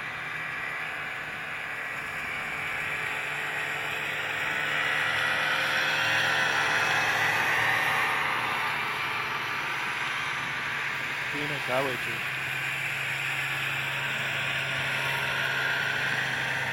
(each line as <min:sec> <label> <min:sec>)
0:00.0 snowmobiles pass by far 0:16.7